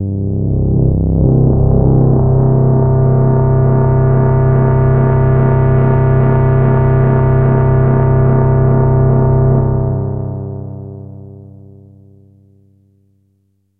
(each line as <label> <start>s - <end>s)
evolving pad type sound 0.0s - 8.6s